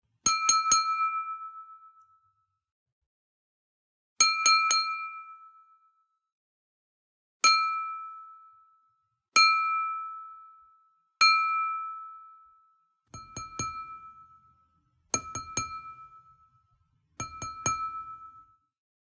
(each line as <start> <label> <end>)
13.2 Tapping on a wine glass 14.6
15.2 Tapping on a wine glass 16.6
17.2 Tapping on a wine glass 18.6